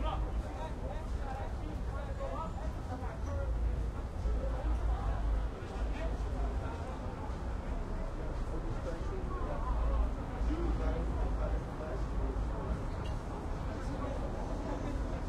0.0s traffic 15.2s

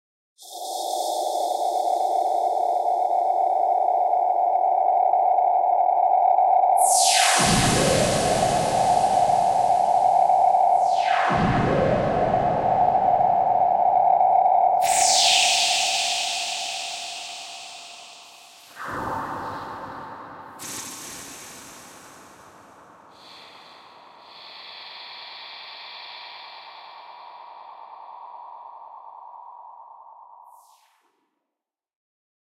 6.8s long space wooshes 29.6s

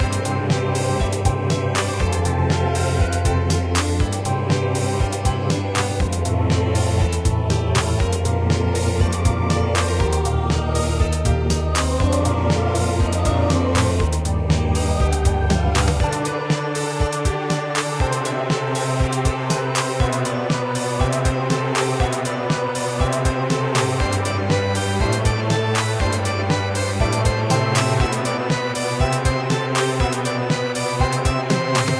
0.0s choir 31.9s
0.0s organ 31.9s
0.0s piano 31.9s
0.0s synth 31.9s

